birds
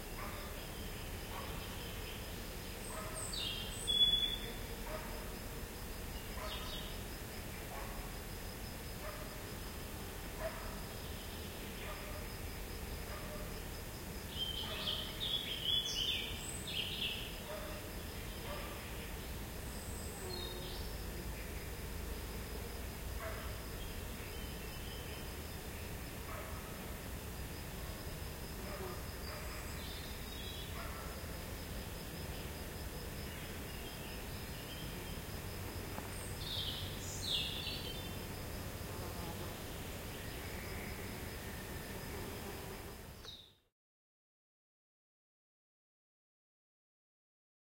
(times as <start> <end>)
0.1 5.1